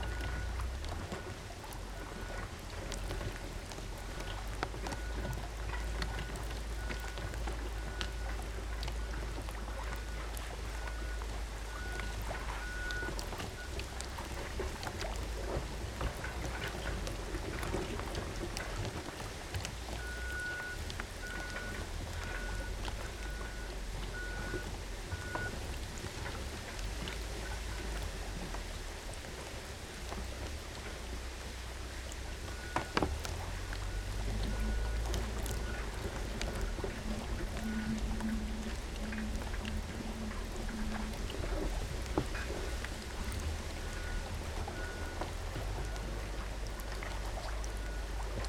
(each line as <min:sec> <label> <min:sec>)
0:00.0 beach structure balacing on water 0:48.4
0:00.0 waves 0:48.4